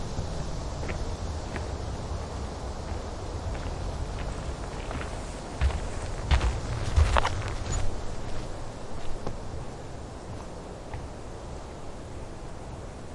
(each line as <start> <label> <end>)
0.0 Bees 13.1
0.0 Leaves 13.1
0.0 Wind 13.1
0.8 Birds 12.5
2.8 Steps On Ground 11.3